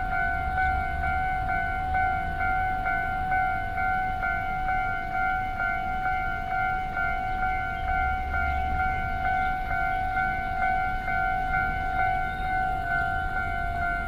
Railway crossings 0.0 - 14.0
Traveling by train 0.0 - 14.0
Traffic Sound 5.7 - 14.0

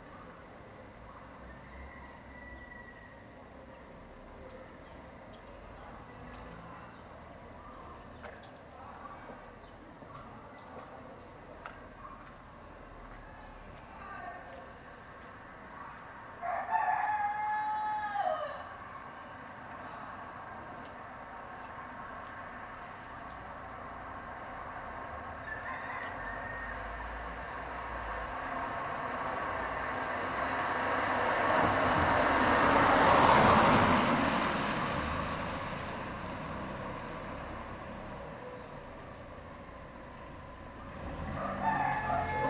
chichens in a close courtyard 0.0 - 42.4
cars 4.0 - 15.8
cars 19.5 - 42.4
van with music passing by 29.0 - 38.3

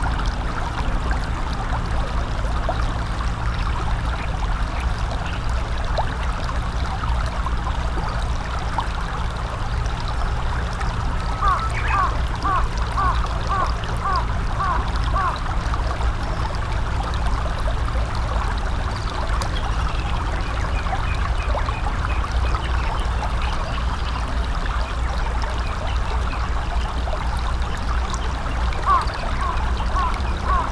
small rapids 0.0 - 30.7
crow 11.4 - 15.4
crow 28.8 - 30.7

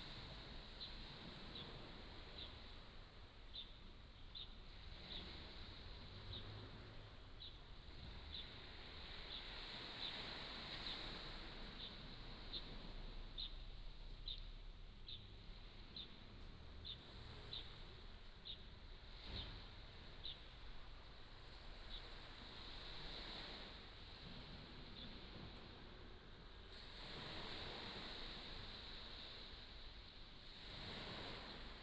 waves 0.0 - 31.8

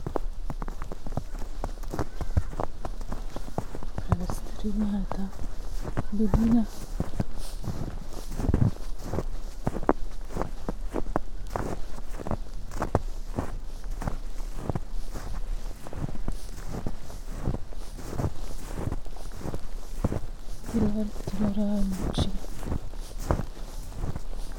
sounds of winter clothes 0.0 - 24.5
steps 0.0 - 24.5
spoken words 4.0 - 5.4
spoken words 6.0 - 6.8
spoken words 20.7 - 22.4

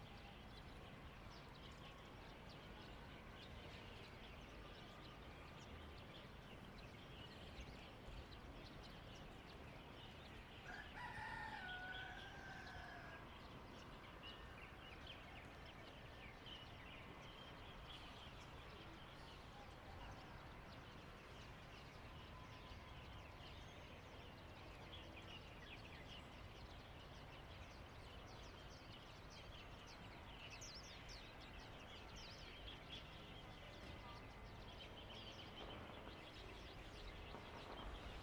firecrackers 35.4 - 38.2

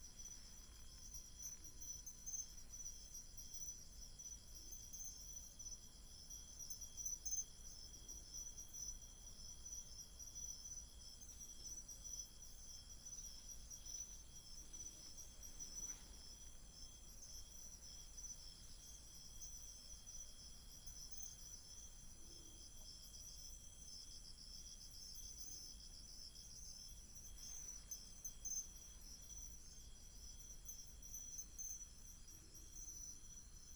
Insects 0.0 - 33.7

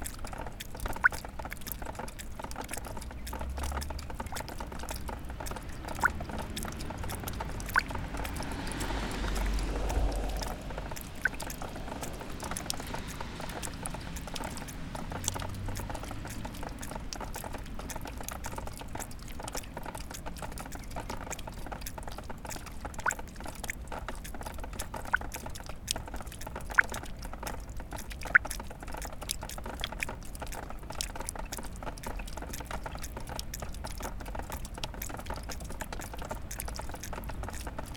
Melting ice dripping from a windowsill 0.0 - 37.9

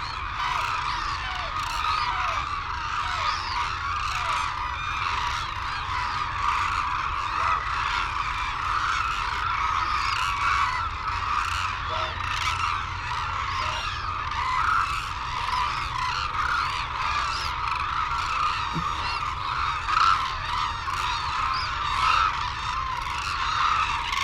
calls and flight calls from white naped cranes and hooded cranes 0.0 - 24.2

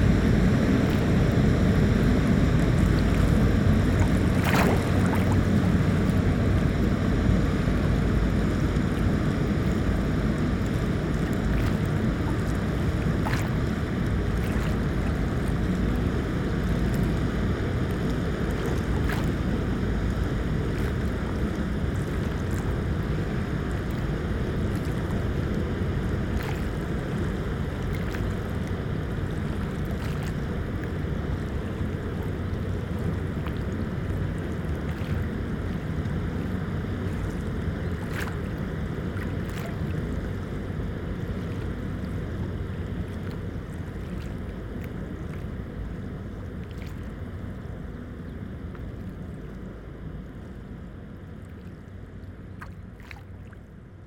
big waves 0.0 - 50.5
Two boats are passing 0.0 - 54.0

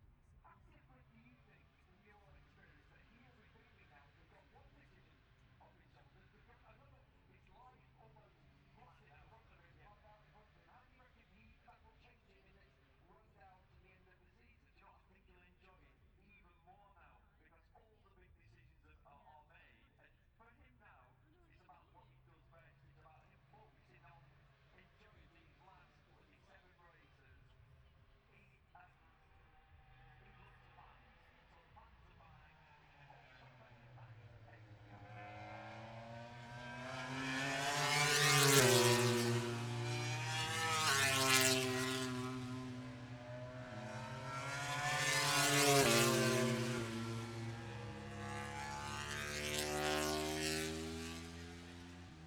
moto grand prix free practice three 32.6 - 52.2

